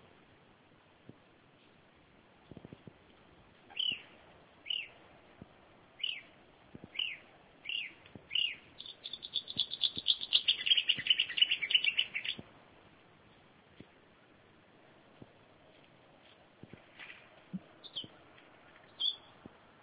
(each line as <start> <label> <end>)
3.7 summer nigth's bird 5.0
6.0 summer nigth's bird 12.4
17.0 summer nigth's bird 19.4